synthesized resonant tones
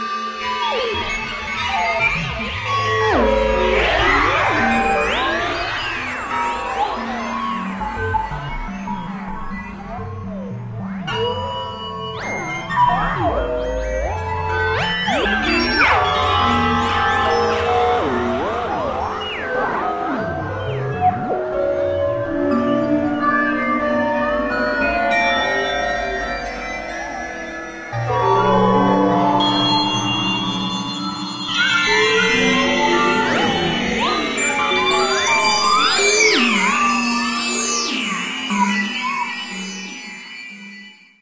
0:13.1 0:40.2

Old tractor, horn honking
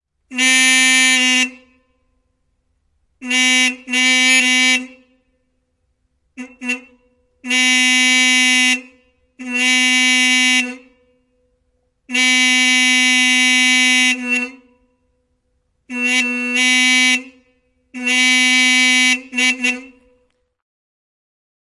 0:00.2 0:02.2, 0:03.2 0:05.5, 0:06.3 0:11.4, 0:12.1 0:15.2, 0:15.8 0:20.3

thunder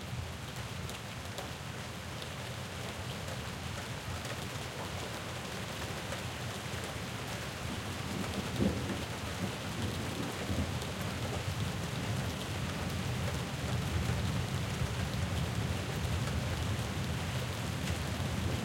0:08.5 0:10.7

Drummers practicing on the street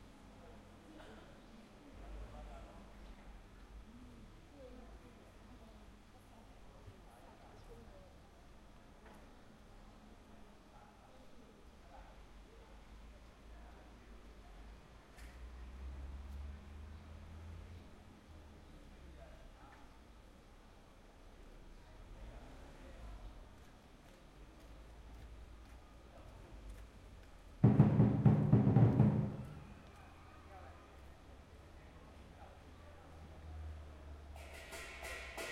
0:27.6 0:29.8, 0:34.4 0:35.5

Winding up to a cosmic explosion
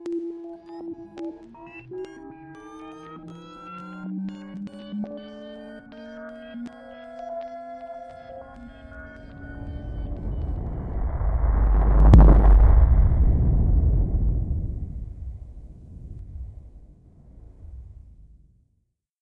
0:08.6 0:16.8

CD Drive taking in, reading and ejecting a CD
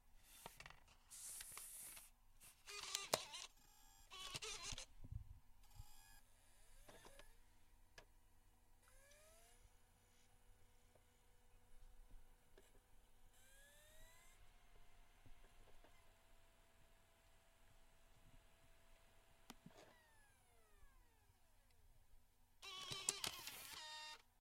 0:02.7 0:04.9, 0:06.8 0:07.4, 0:22.6 0:24.3

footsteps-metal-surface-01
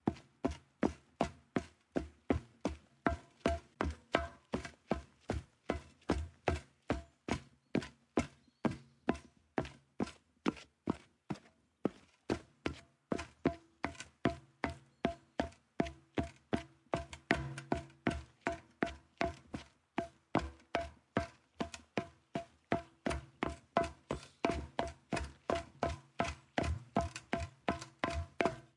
0:17.0 0:18.6, 0:19.2 0:28.7

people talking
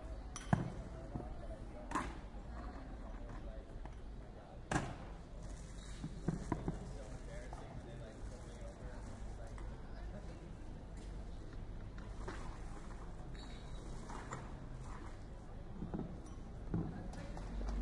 0:00.0 0:11.6, 0:16.7 0:17.8

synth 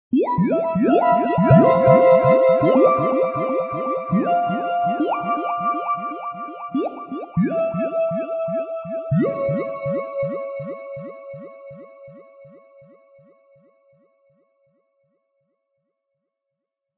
0:00.1 0:13.3

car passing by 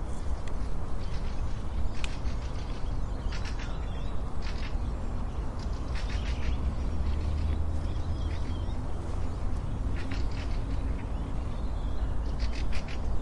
0:05.5 0:11.7

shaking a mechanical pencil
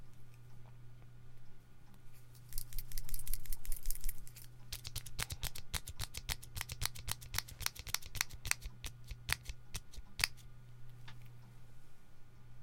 0:02.3 0:10.4

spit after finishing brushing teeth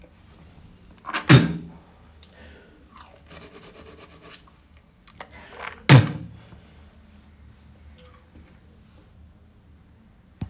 0:01.0 0:06.5

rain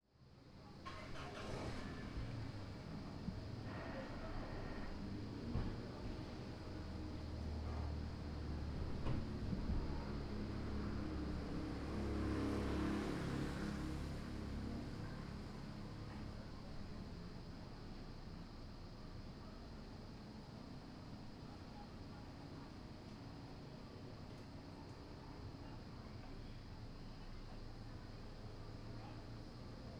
0:00.8 0:02.5

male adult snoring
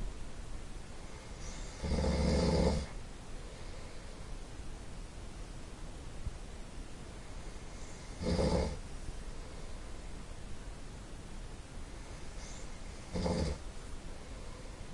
0:01.4 0:03.0, 0:07.8 0:08.8, 0:12.4 0:13.6

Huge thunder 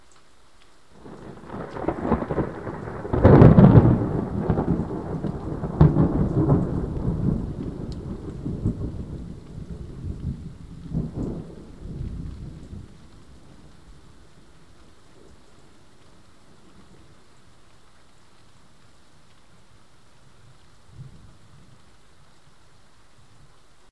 0:01.0 0:13.6

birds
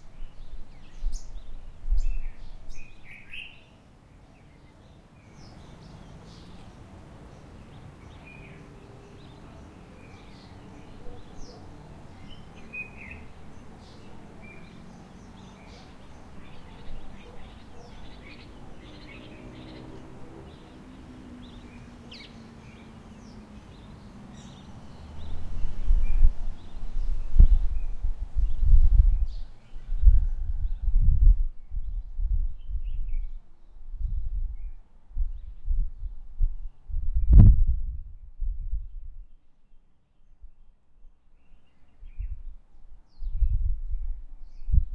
0:00.0 0:33.8

